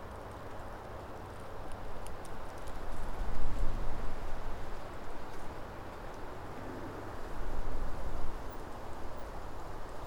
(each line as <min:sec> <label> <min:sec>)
0:00.0 creaking of trees in the breeze 0:10.0
0:00.0 wind blowing through the birch woodland 0:10.0